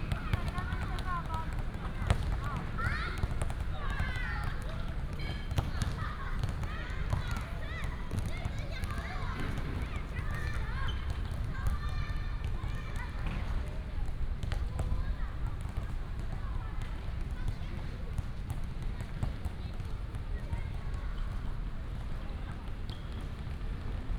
0.0s Walking the primary school playground 17.8s

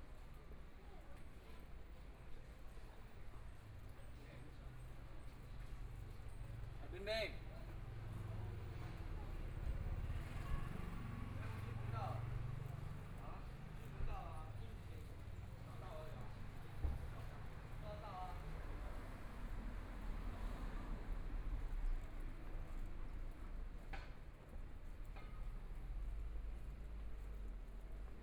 0.1s Walking through the Street 28.2s

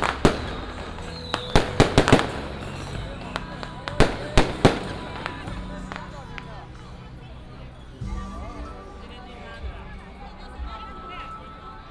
0.0s Fireworks and firecrackers sound 11.7s
0.0s Crowded crowd 11.9s

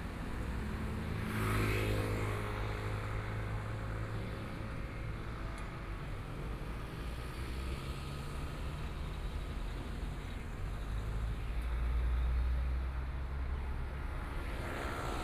11.8s Traffic Sound 15.2s

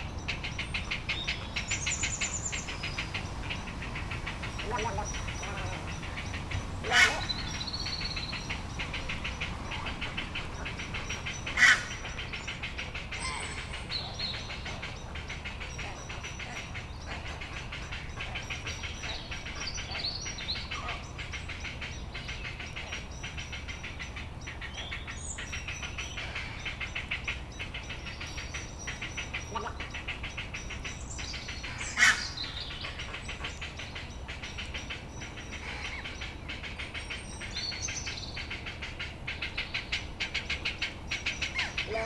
0.0s Blackbirds 42.0s
0.0s Ducks 42.0s
0.0s Heron chicks making a ruckus 42.0s
0.0s Little Egret 42.0s
1.2s Crows 42.0s
6.8s adult Heron shrieks 7.7s
11.4s adult Heron shrieks 12.1s
13.1s adult Heron shrieks 14.2s

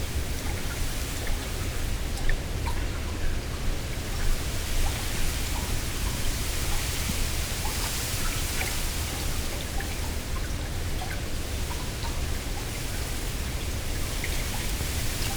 0.0s Strong wind in reeds above and below water 1.7s

